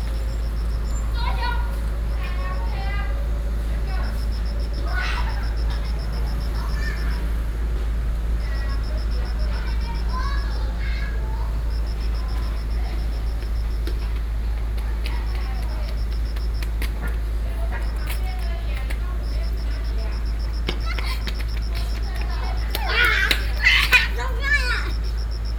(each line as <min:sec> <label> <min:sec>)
0:00.0 Kids playing ball 0:25.5